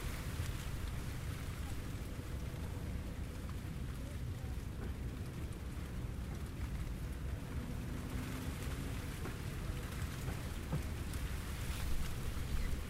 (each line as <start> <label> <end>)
0.0 Long grass whipping in wind 2.3
8.1 Long grass whipping in wind 12.8